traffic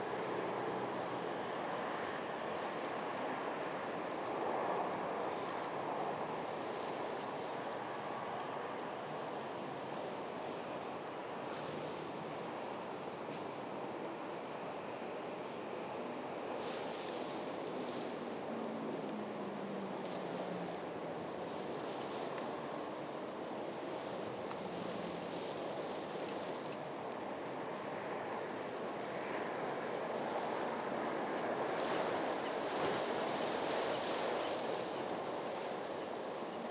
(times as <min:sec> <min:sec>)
0:17.1 0:26.0